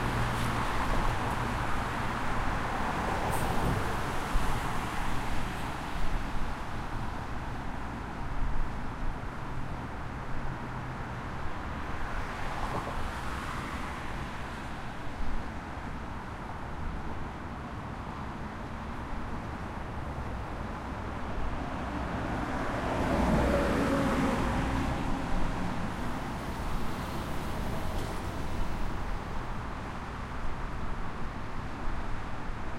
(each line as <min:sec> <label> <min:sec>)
0:00.0 Traffic 0:32.7